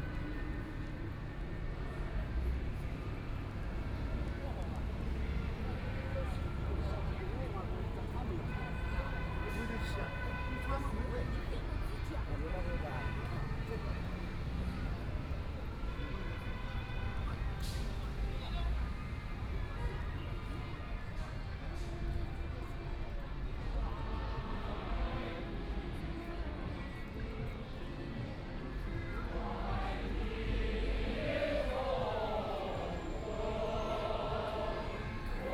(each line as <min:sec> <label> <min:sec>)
0:28.9 people chorus together 0:35.5